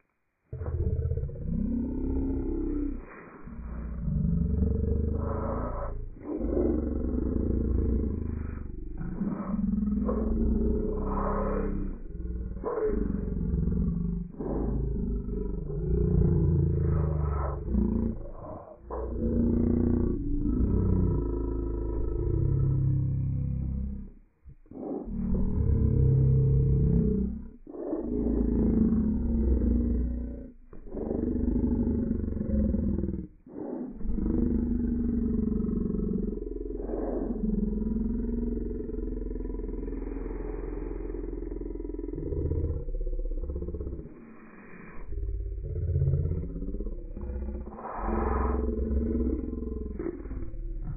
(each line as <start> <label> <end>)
0.5 Deep zombie rumble 50.9